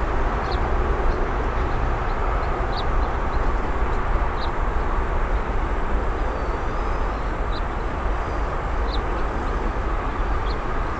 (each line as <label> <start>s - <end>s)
cicadas 0.0s - 10.9s
din of the nearby freeway intersection 0.0s - 10.9s
leaves in the wind 0.0s - 10.9s
water frogs 0.2s - 3.5s
water frogs 6.2s - 10.9s